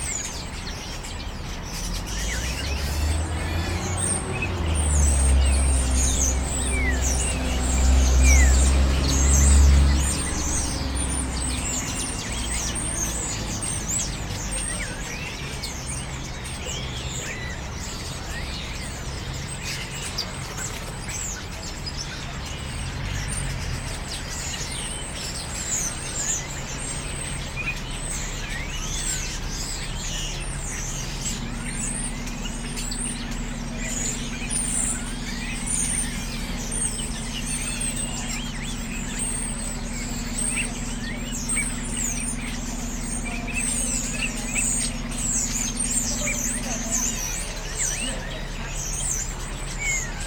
0.0s Roosting Starlings 50.2s
0.0s buses that run past the church yard 50.2s
0.0s pedestrians walking on the paths 50.2s

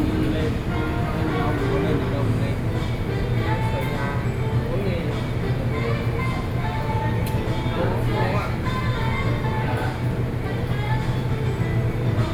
0.0s Air conditioning 12.3s

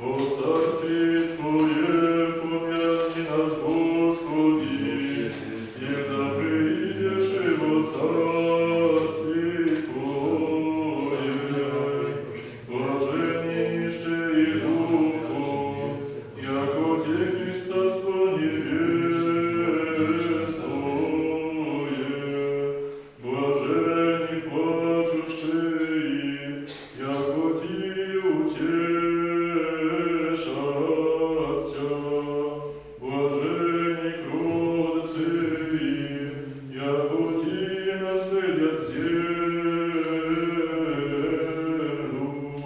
0.0s singing 42.6s

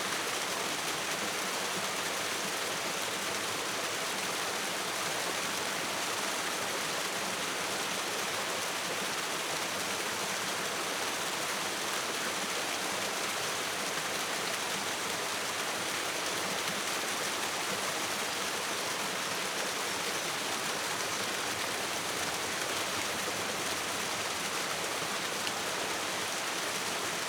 0.0s stream goes over a small waterfall 27.2s

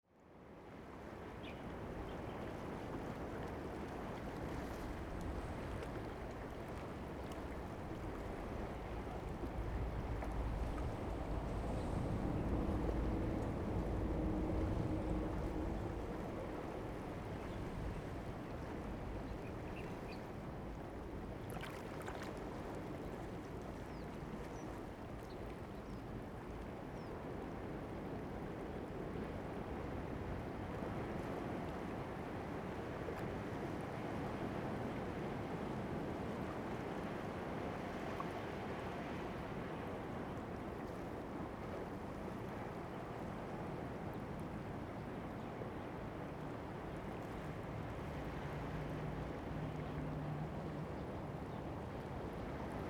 0.2s waves 52.8s
9.5s Traffic Sound 18.1s

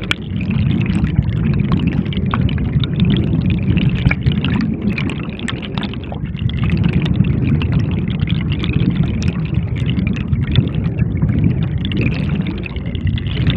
0.0s torrent of rushing water 13.5s

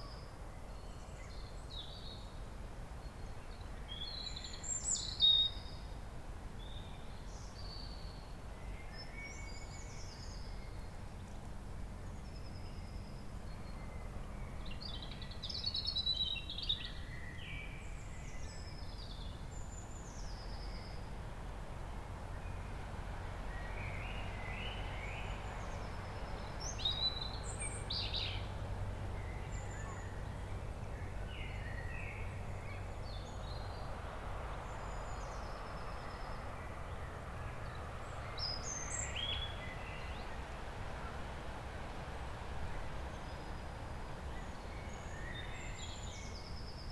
0.0s birds 46.9s
0.0s distant traffic noise 46.9s
0.0s wind in the trees 46.9s

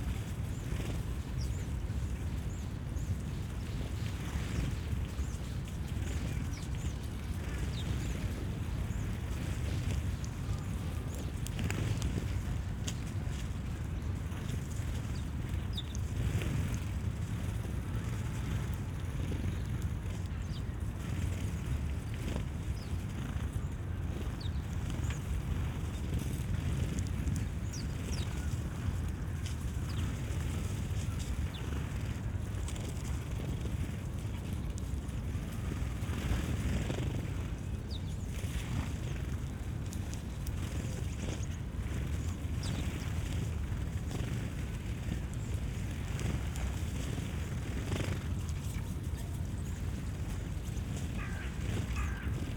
0.0s sparrows fluttering on fence 52.5s

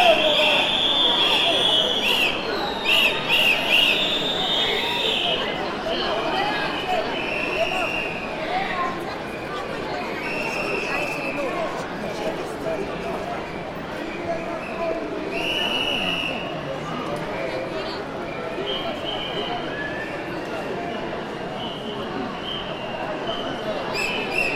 0.0s Public rally 24.5s

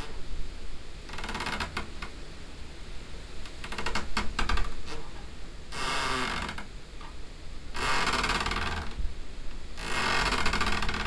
9.8s tree scraping in tree hut 11.0s

